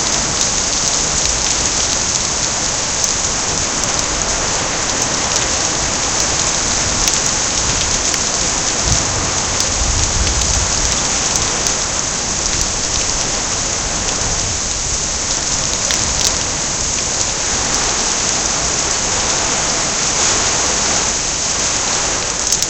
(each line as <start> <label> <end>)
0.0 hail 22.6
0.0 rain 22.6
0.0 water was rolling out over the edges and onto the concrete patio 22.6
0.0 wind 22.6
4.9 thunder 14.7